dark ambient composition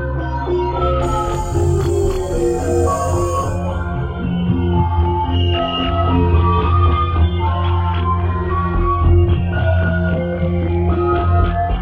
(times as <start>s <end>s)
0.7s 8.8s